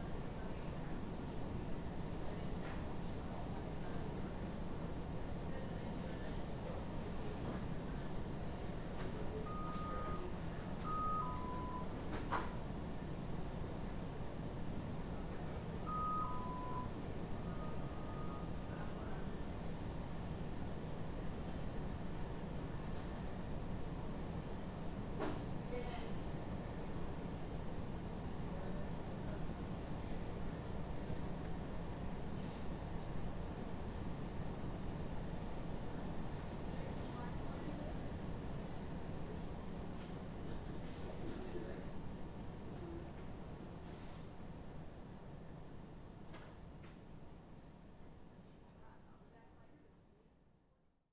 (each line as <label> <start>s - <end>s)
patients chime for their nurses 9.5s - 11.9s
patients chime for their nurses 15.8s - 18.5s
people talking 36.7s - 38.1s